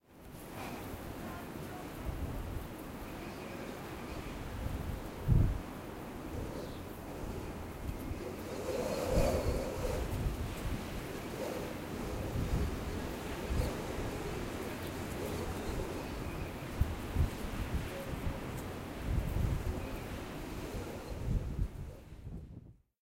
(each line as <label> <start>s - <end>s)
wind in a terrace with light whistles 0.0s - 22.8s
people talking at the distance 0.6s - 4.6s
people talking at the distance 17.6s - 18.7s